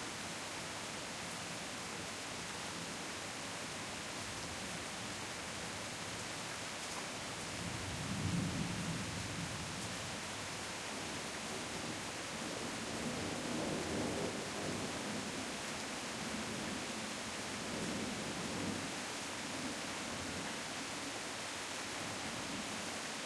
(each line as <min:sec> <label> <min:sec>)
0:00.0 rain 0:23.2